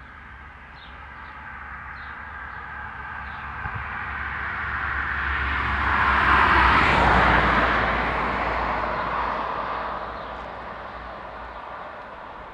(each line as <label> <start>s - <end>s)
birds 0.0s - 3.9s
mild windy 0.0s - 12.5s
passing by traffic 0.0s - 12.5s
birds 10.0s - 12.5s